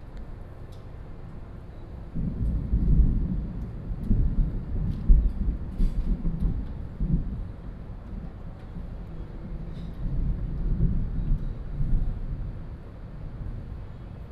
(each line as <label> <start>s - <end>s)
thunder 2.1s - 13.9s